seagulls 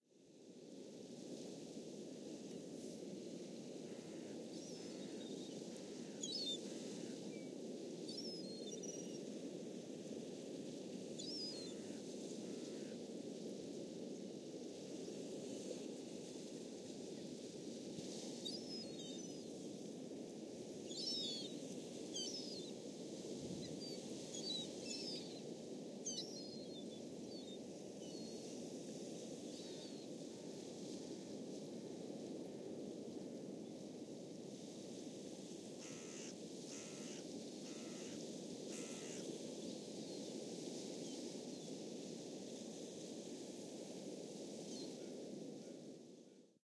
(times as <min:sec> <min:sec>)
0:35.8 0:39.2